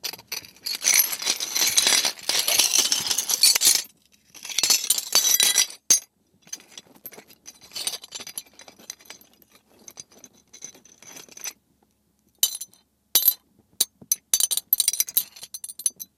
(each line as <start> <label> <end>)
0.1 Sifting through shattered glass 5.8